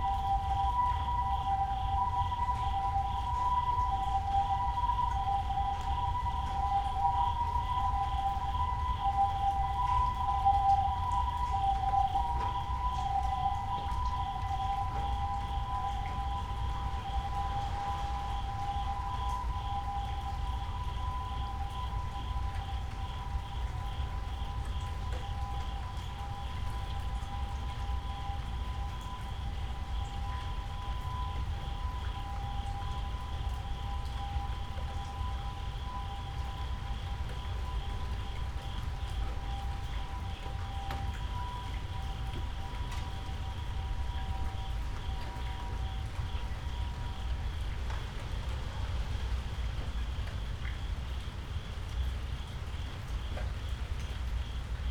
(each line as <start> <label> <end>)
0.0 rain 54.9